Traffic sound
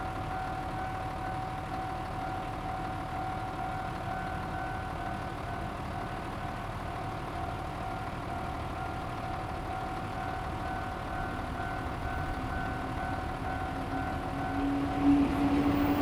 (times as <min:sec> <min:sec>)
0:11.0 0:16.0